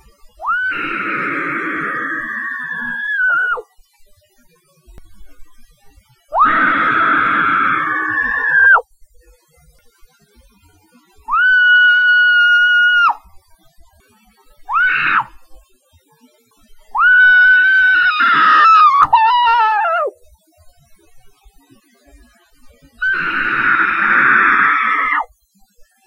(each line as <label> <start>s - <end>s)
screaming into a pillow 0.4s - 3.6s
screaming into a pillow 6.3s - 8.8s
screaming into a pillow 11.3s - 13.2s
screaming into a pillow 14.7s - 15.3s
screaming into a pillow 17.0s - 20.1s
screaming into a pillow 23.0s - 25.3s